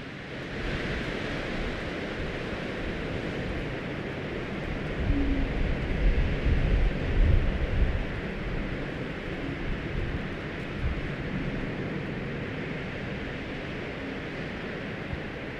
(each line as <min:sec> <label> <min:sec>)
0:04.2 wind ocarina on transmitter mast 0:11.8